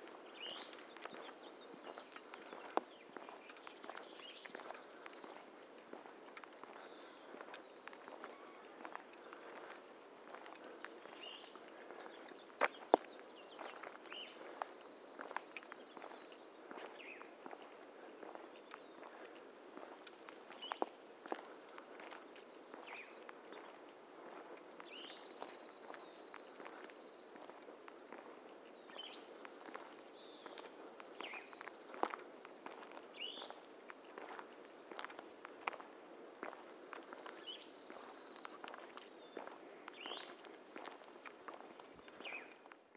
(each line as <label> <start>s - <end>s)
Walking on the road with a few people 0.0s - 42.9s